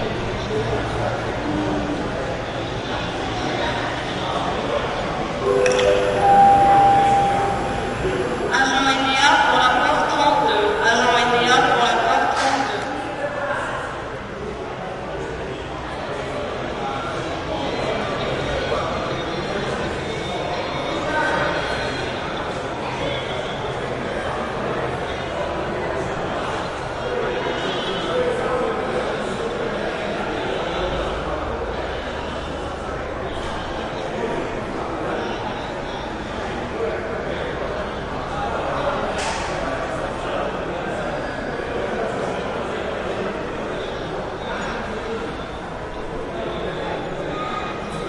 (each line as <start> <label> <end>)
0.0 busy activity echo 48.0
5.4 PA 8.4